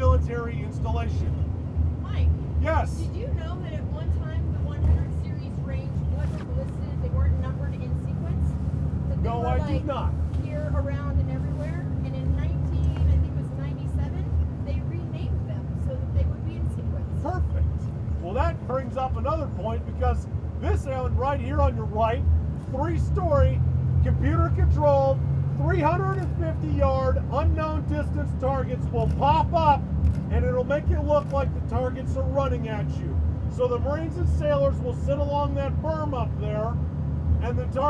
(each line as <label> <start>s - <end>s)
Yelling tour on the bus 0.0s - 29.7s
bus, bouncing across the Mojave sand 0.0s - 37.8s